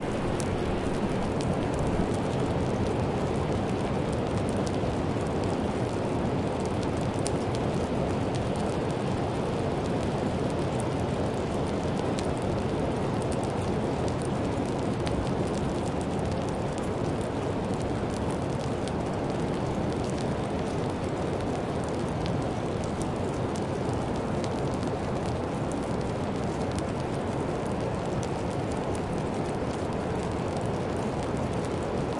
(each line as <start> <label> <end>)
0.0 little drips over the front of the cave 32.1